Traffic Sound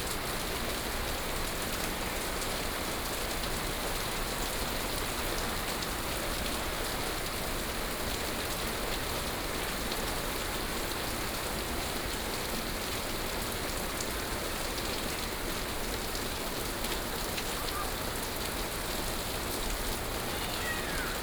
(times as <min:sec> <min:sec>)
0:19.5 0:21.2